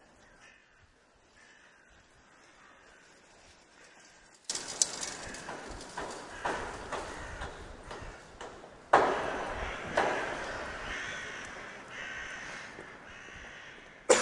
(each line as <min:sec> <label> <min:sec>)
0:00.1 street sounds 0:14.2